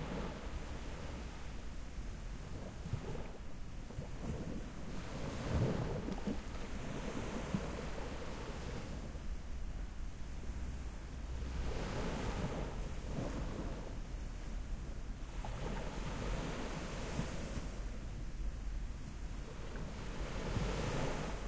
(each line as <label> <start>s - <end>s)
calm sea 0.0s - 21.4s